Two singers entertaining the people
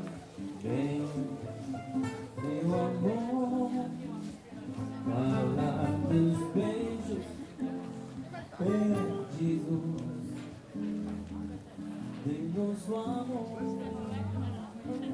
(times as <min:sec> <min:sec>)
0:00.0 0:10.8